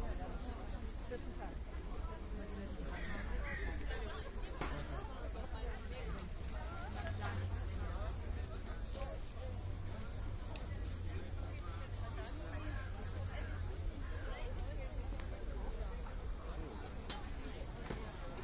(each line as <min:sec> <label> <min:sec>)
0:00.0 mostly women talk 0:18.4